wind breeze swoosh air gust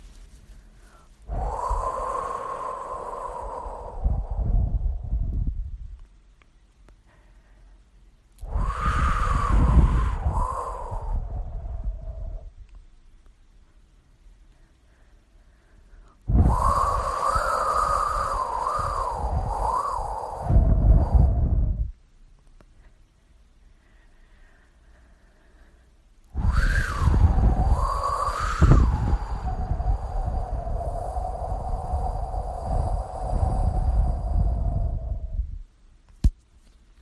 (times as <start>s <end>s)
1.2s 6.0s, 8.4s 12.6s, 16.3s 22.0s, 26.3s 35.7s